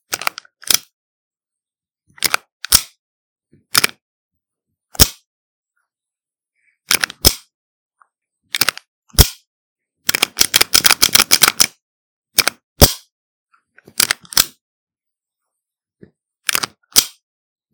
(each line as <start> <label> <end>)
0.1 pocket pistol slide racking 0.9
2.2 pocket pistol slide racking 3.0
3.7 pocket pistol slide racking 4.0
6.9 pocket pistol slide racking 7.4
8.5 pocket pistol slide racking 9.4
10.1 pocket pistol slide racking 11.8
12.4 pocket pistol slide racking 13.0
13.9 pocket pistol slide racking 14.6
16.5 pocket pistol slide racking 17.2